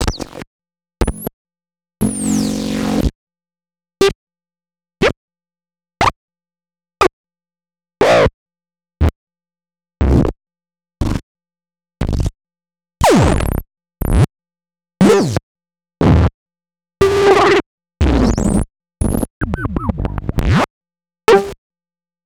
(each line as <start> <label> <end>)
19.4 Electronic blips n yips 20.7